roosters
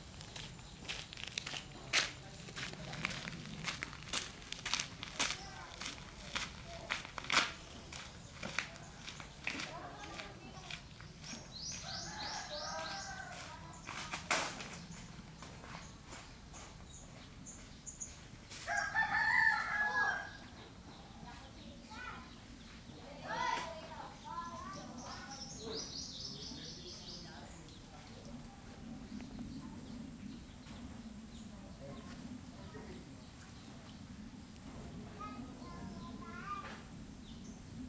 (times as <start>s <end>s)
8.2s 16.0s, 18.5s 21.3s